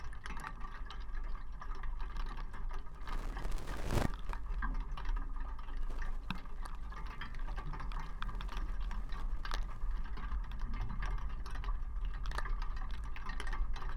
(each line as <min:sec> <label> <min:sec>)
0:03.0 snowflakes on barbed wire 0:04.6
0:05.8 snowflakes on barbed wire 0:10.0